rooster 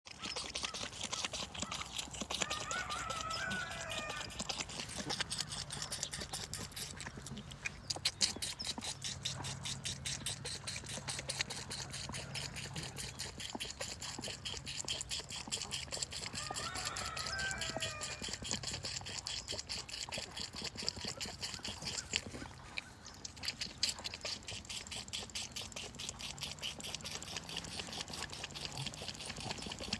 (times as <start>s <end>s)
2.4s 4.8s, 16.2s 18.8s